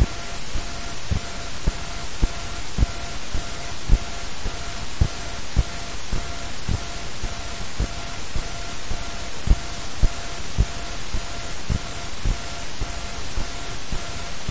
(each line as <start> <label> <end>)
0.0 hum 14.5